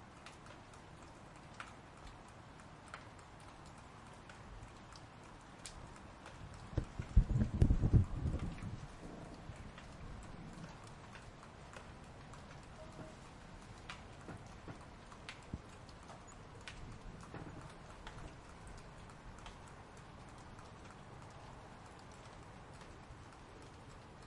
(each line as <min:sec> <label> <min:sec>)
0:00.0 Rain 0:24.2
0:00.0 dripping water 0:24.2